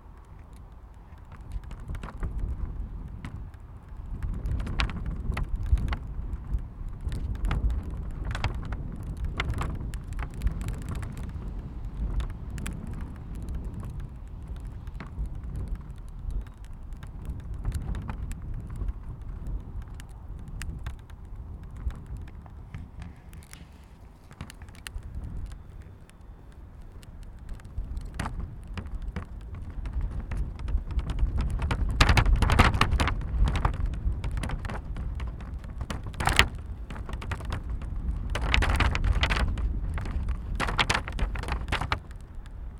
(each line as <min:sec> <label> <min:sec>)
0:00.0 Planning notice in the wind 0:42.7